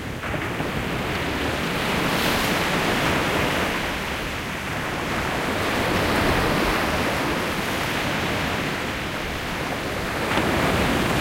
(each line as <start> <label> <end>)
0.0 rough Baltic Sea 11.2
0.0 wind 11.2